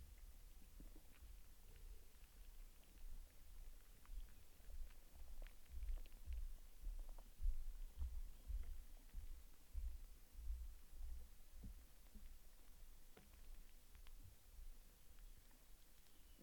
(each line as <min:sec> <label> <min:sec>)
0:01.2 tree in decay busy with hidden life 0:16.4